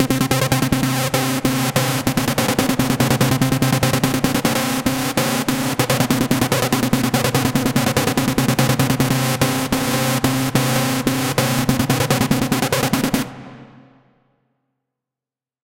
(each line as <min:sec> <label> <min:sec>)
0:00.0 Bass loops 0:13.6
0:13.2 Snare 0:14.2